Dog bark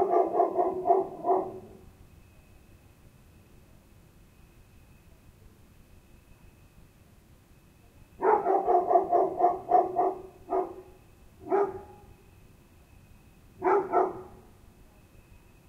0:00.0 0:01.8, 0:08.2 0:12.1, 0:13.6 0:14.4

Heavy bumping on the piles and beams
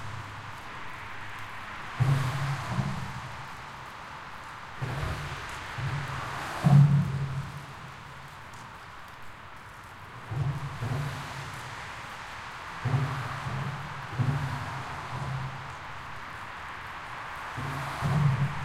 0:12.8 0:15.8, 0:17.6 0:18.6

